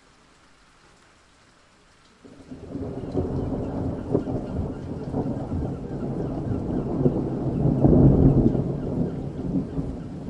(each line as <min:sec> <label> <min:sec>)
0:00.0 rain 0:10.2
0:02.2 roll of thunder 0:10.2